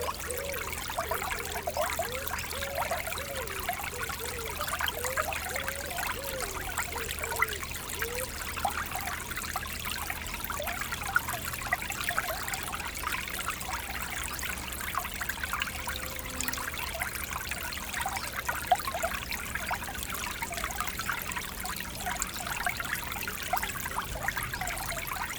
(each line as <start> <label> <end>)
0.0 small stream 25.3